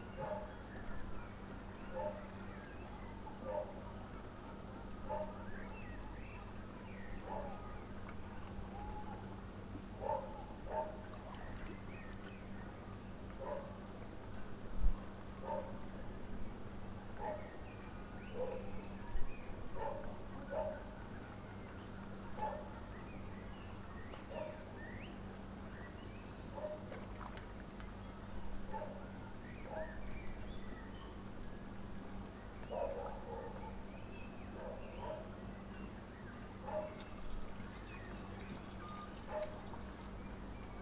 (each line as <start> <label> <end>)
0.2 dogs 0.6
1.9 dogs 2.4
3.4 dogs 3.8
5.1 dogs 5.4
7.2 dogs 7.6
10.0 dogs 11.0
13.4 dogs 13.8
15.4 dogs 15.8
17.2 dogs 17.6
18.3 dogs 18.7
19.8 dogs 21.0
22.4 dogs 22.8
24.3 dogs 24.7
26.6 dogs 27.1
28.7 dogs 30.0
32.6 dogs 33.9
34.5 dogs 35.4
36.6 dogs 37.2
38.5 dogs 39.9